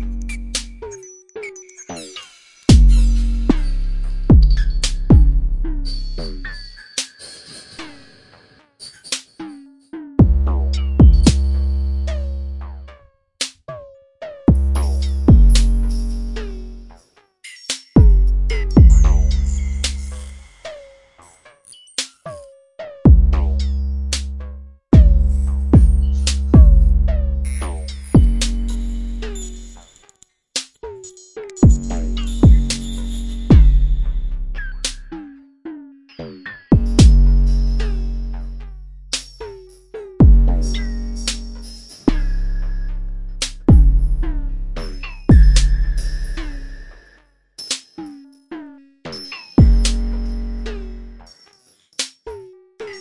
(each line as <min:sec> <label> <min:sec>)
0:00.0 bass 0:01.0
0:00.0 synthesizer 0:53.0
0:02.7 drum 0:03.6
0:02.7 bass 0:06.8
0:04.3 drum 0:05.4
0:10.2 drum 0:11.6
0:10.2 bass 0:13.1
0:14.5 bass 0:17.0
0:14.5 drum 0:16.0
0:18.0 bass 0:20.6
0:18.0 drum 0:20.0
0:23.0 bass 0:29.9
0:23.1 drum 0:23.6
0:25.0 drum 0:27.0
0:27.6 drum 0:29.4
0:31.6 drum 0:34.0
0:31.6 bass 0:35.4
0:36.7 bass 0:47.2
0:36.8 drum 0:38.1
0:40.2 drum 0:42.3
0:43.4 drum 0:46.1
0:49.6 drum 0:50.2
0:49.6 bass 0:51.3